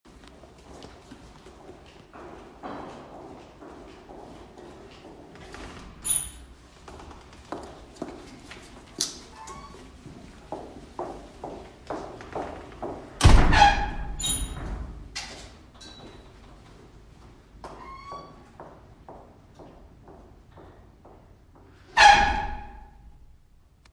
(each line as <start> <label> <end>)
0.1 footsteps tiles 5.7
5.6 opens the metal door with a loud squaeking sound 6.6
6.8 footsteps tiles 9.3
9.3 opens the metal door with a loud squaeking sound 10.0
9.9 footsteps tiles 13.2
13.2 the door shuts with a loud bang 14.7
13.2 opens the metal door with a loud squaeking sound 15.0
17.8 opens the metal door with a loud squaeking sound 18.4
21.8 opens the metal door with a loud squaeking sound 23.2